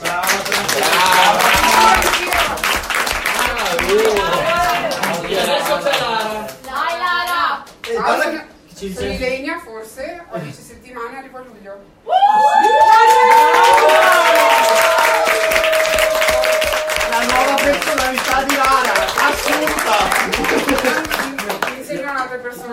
Crowd 0.0 - 8.4
Crowd 12.0 - 22.7

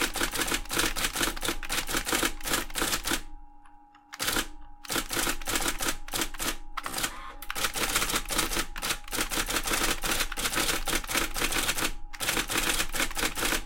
Typewriter typing 0.0 - 3.3
typing element and carriage moving 4.1 - 13.6
Typewriter typing 4.1 - 13.6

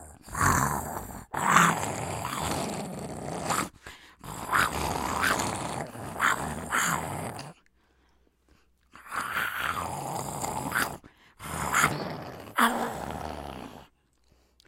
roar 0.0 - 7.6
growls 0.0 - 7.7
snarls 0.0 - 7.7
growls 9.0 - 13.9
roar 9.0 - 13.9
snarls 9.0 - 13.9

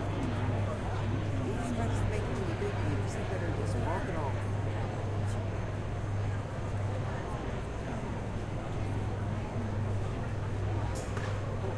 crowd murmurs 0.0 - 11.7

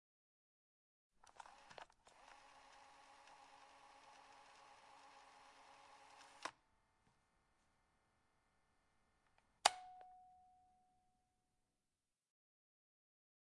Cassette Tape Rewind 1.3 - 6.5
Button 9.6 - 10.5

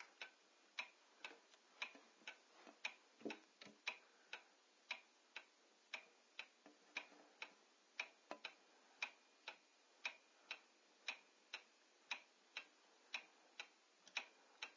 Clock Ticking 0.0 - 14.7

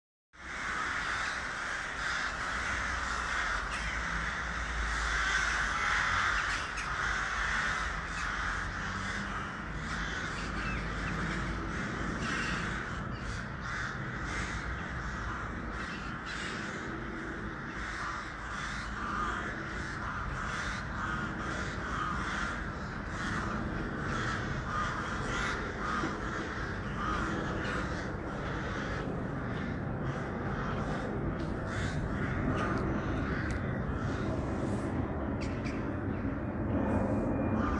murder of crows 0.4 - 37.7

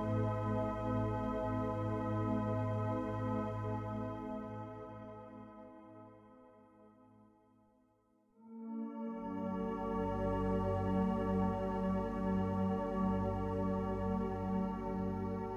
synthesizer 0.0 - 7.1
synthesizer 8.4 - 15.5

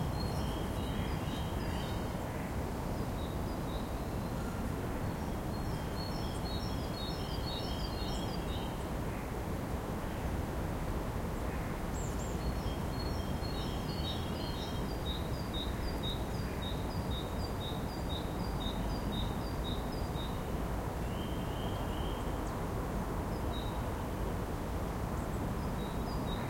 birdsong 0.0 - 8.9
birdsong 11.9 - 22.6
birdsong 25.2 - 26.4

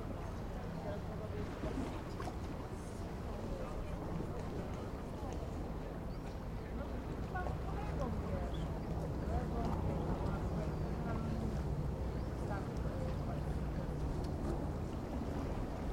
Relaxed chatter 0.0 - 15.9
occasional boats passing by 0.0 - 15.9
river 0.0 - 15.9

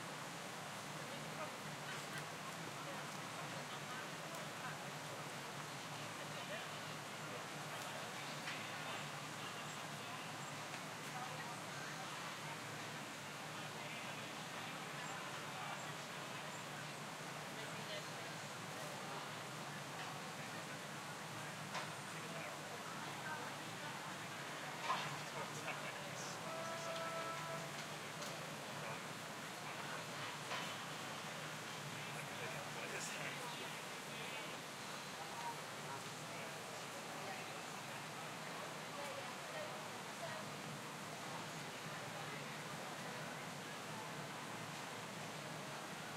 river 0.0 - 46.1

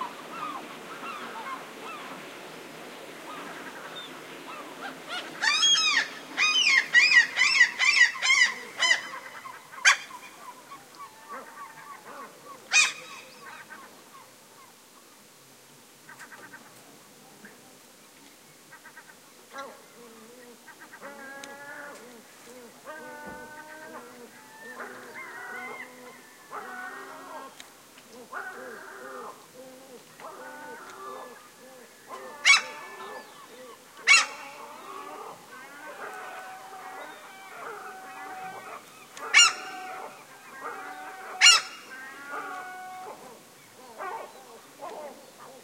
high-pitched, piercing calls from seagulls 4.5 - 13.7
high-pitched, piercing calls from seagulls 22.9 - 27.6
high-pitched, piercing calls from seagulls 32.1 - 43.3

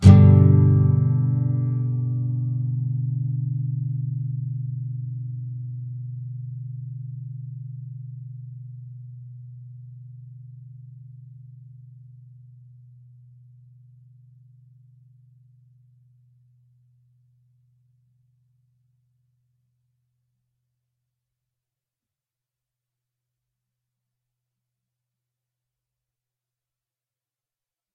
nylon guitar 0.0 - 8.8

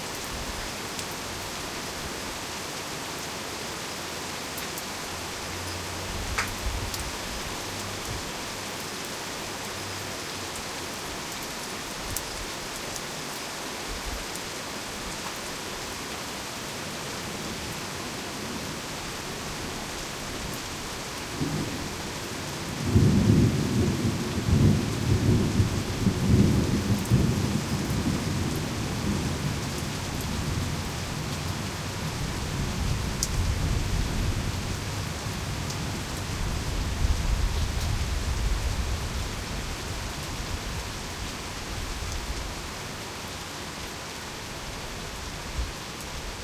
Heavy Rain Storm 0.0 - 46.4

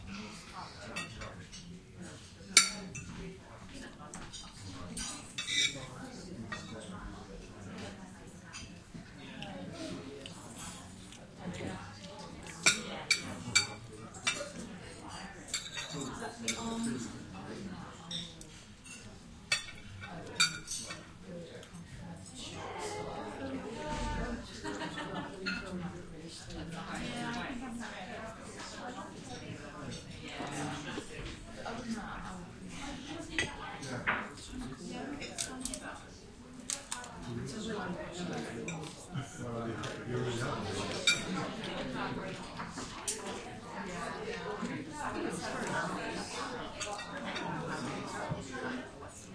chatter 0.0 - 49.3

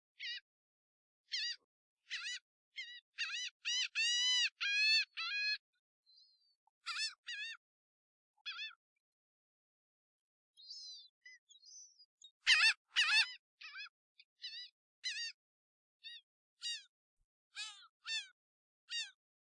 Seagulls 0.2 - 0.5
Seagulls 1.3 - 7.6
Seagulls 8.4 - 8.8
Seagulls 10.6 - 15.4
Seagulls 16.0 - 16.9
Seagulls 17.5 - 19.2

